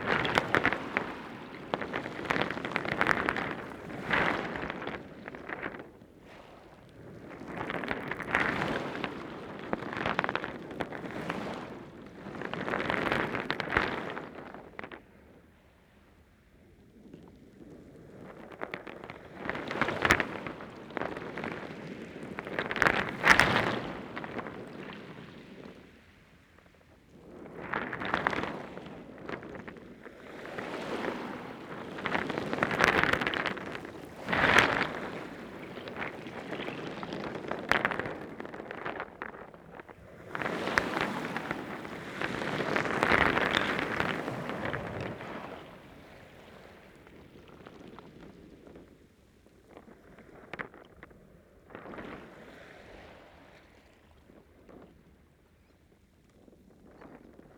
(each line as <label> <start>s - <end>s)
High tide waves heard from under the stones 30.3s - 38.4s
High tide waves heard from under the stones 40.0s - 47.3s